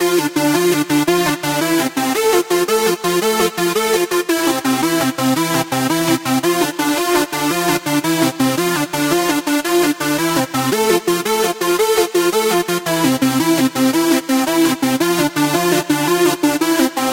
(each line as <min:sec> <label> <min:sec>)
0:00.0 dance riff 0:17.1